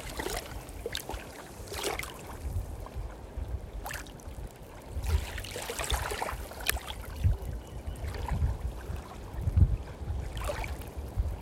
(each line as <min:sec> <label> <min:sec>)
0:00.0 Waves lapping the shore 0:11.4